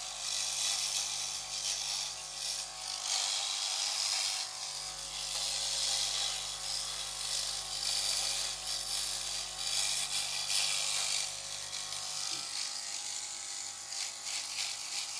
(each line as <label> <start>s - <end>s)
Electic Shaving 0.0s - 15.1s